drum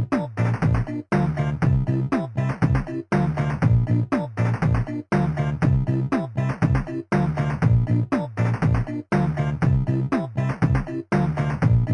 0:00.1 0:00.9, 0:01.6 0:03.9

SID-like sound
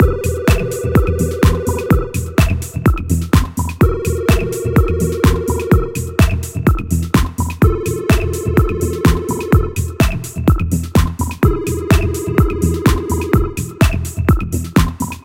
0:03.8 0:07.0, 0:07.6 0:10.4, 0:11.4 0:14.3

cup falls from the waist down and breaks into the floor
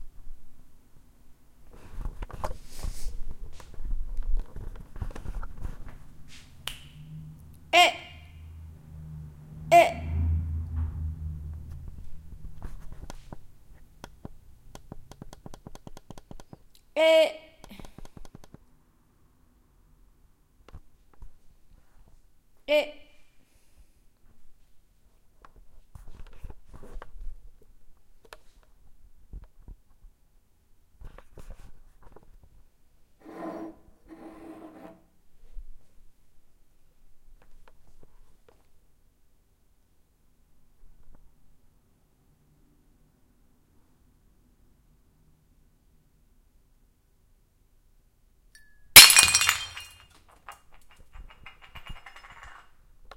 0:49.0 0:50.0

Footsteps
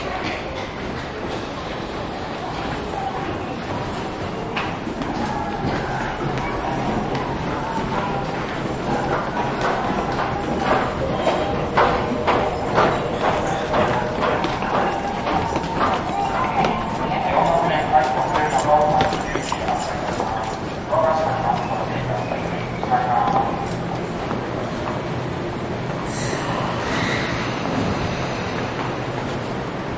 0:03.7 0:25.1

